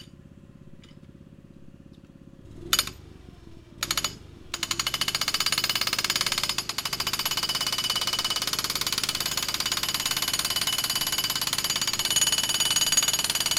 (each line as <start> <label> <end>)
0.0 four stroke petrol (gasoline) engine 13.5
2.5 hydraulic jackhammer 3.1
3.8 hydraulic jackhammer 13.5